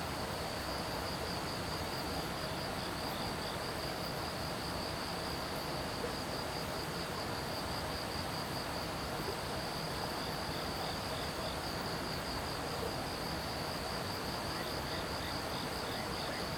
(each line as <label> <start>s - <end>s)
Insects sounds 13.2s - 16.5s